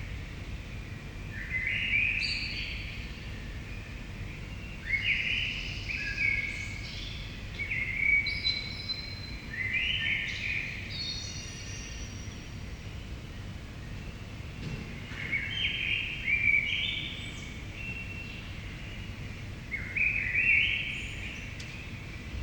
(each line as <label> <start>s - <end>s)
blackbird 1.3s - 12.6s
blackbird 13.4s - 22.4s